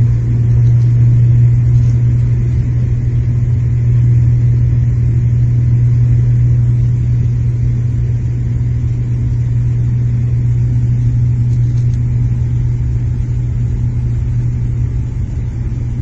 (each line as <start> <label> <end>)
0.0 Turboprop Aircraft Taxi and Takeoff 16.0